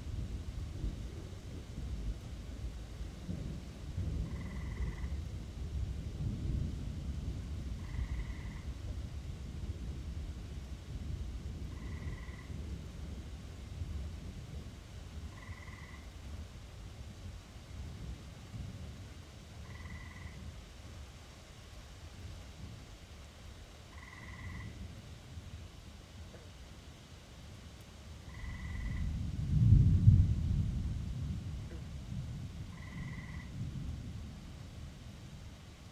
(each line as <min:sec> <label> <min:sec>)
0:00.0 rain 0:35.9
0:00.2 Distant thunder 0:16.2
0:04.3 Tree toads 0:05.2
0:07.8 Tree toads 0:08.8
0:11.7 Tree toads 0:12.6
0:15.2 Tree toads 0:16.2
0:19.6 Tree toads 0:20.4
0:23.9 Tree toads 0:24.8
0:28.3 Tree toads 0:29.1
0:28.3 Distant thunder 0:35.5
0:32.7 Tree toads 0:33.5